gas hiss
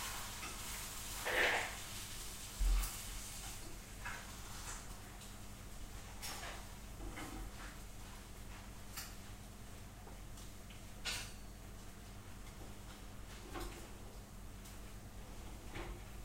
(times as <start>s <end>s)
0.0s 3.6s